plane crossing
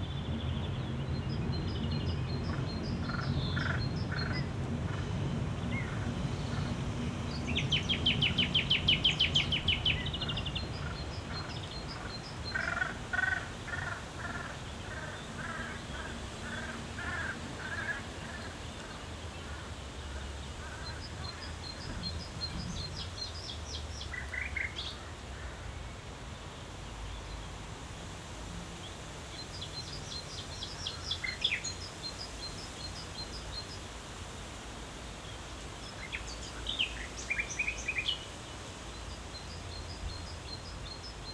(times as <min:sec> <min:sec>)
0:00.0 0:24.9